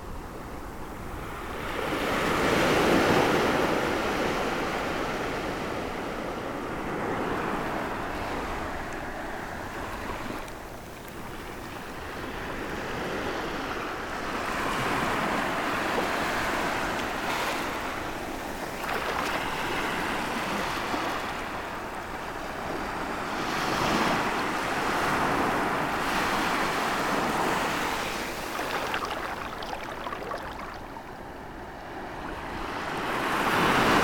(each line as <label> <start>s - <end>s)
Big but quiet waves 0.0s - 34.0s